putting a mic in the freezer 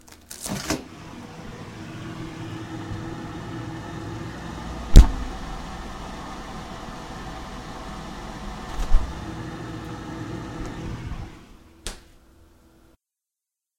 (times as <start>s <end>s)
4.9s 5.6s, 8.6s 9.2s